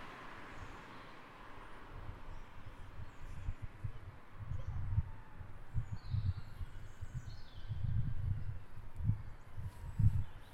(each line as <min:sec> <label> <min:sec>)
0:00.0 traffic 0:10.5